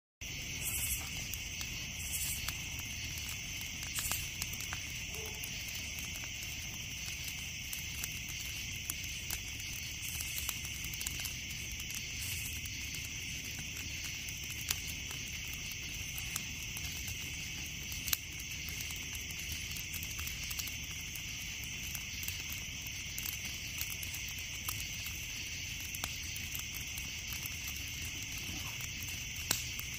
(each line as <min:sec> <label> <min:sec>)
0:00.2 crackling of the wood burning 0:29.9